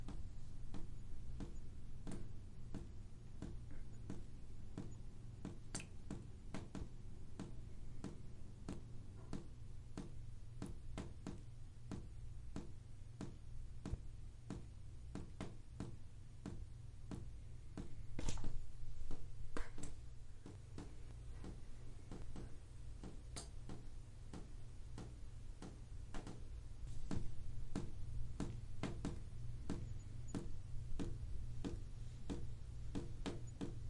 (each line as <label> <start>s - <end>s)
shower dripping water 4.8s - 6.8s